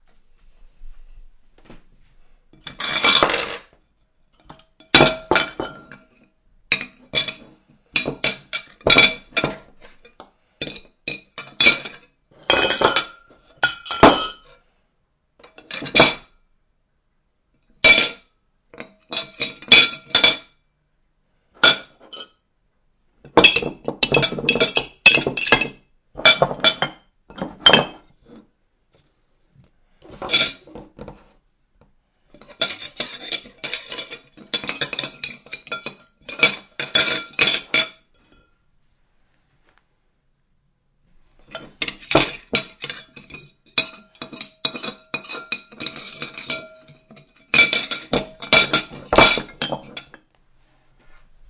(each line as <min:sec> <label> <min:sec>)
0:32.4 dishes rattle 0:38.0
0:41.5 dishes rattle 0:50.2